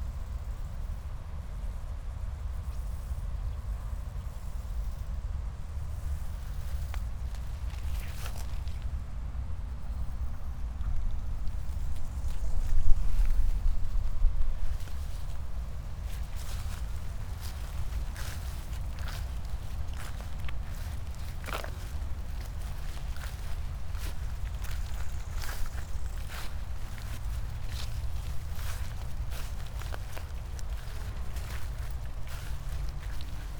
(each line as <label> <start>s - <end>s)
late crickets 0.0s - 33.5s
grasshoppers 3.9s - 9.0s
high grass 6.0s - 9.0s
grasshoppers 9.8s - 33.5s
high grass 9.8s - 33.5s